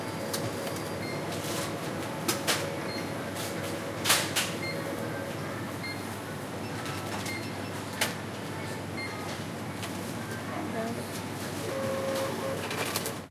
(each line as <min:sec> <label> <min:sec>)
0:02.8 Cash register beeping 0:05.2
0:11.6 Cash register beeping 0:13.2